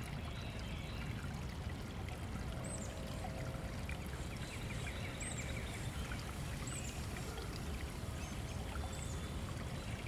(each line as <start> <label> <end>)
0.0 stream 10.0